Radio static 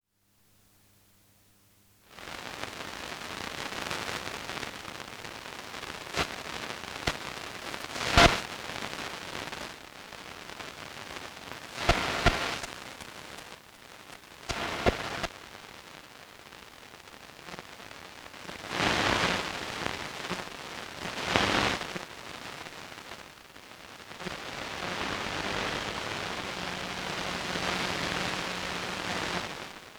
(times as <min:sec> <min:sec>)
0:03.4 0:09.7, 0:10.5 0:15.3, 0:24.2 0:29.8